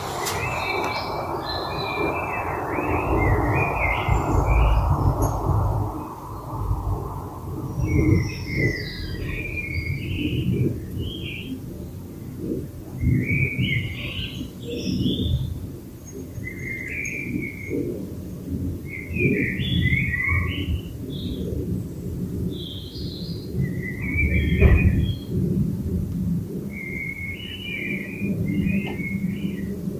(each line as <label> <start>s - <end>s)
bird song 0.0s - 25.4s
bird song 26.7s - 29.9s